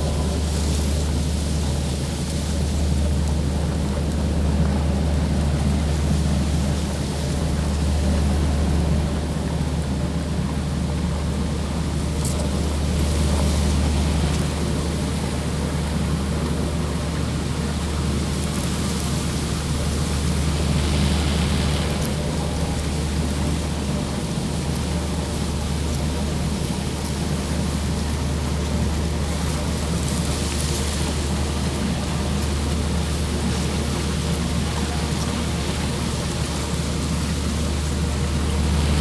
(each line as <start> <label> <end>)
0.0 machinery next to the building 39.0